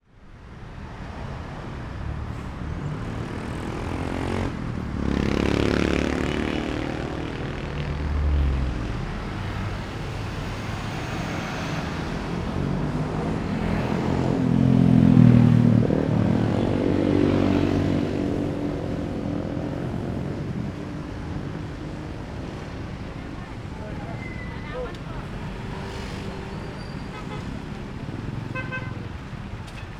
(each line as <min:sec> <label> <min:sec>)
0:00.0 cars 0:29.9
0:00.0 trucks 0:29.9
0:00.9 motorcycles 0:29.9
0:02.2 voices of some people passing by 0:29.9
0:19.6 jeepneys 0:29.9